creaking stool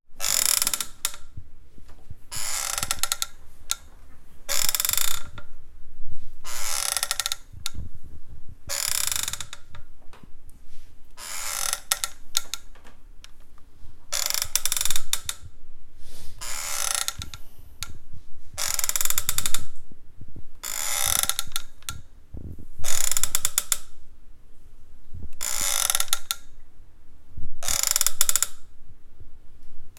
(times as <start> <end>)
0.2 5.6, 6.4 8.0, 8.6 10.3, 11.2 13.5, 14.1 15.6, 16.4 19.8, 20.6 22.1, 22.8 23.9, 25.4 26.5, 27.6 28.7